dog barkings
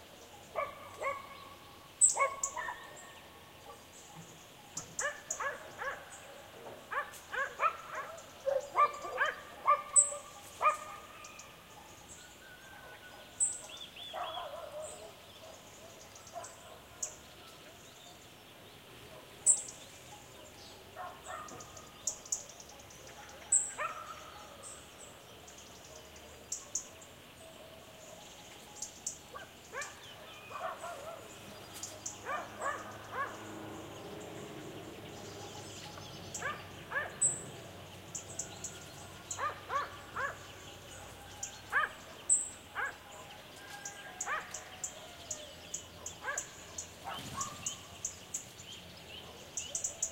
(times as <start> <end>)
0.3 17.6, 19.1 21.8, 22.7 24.7, 29.3 33.5, 35.5 37.4, 39.2 45.0, 45.7 48.0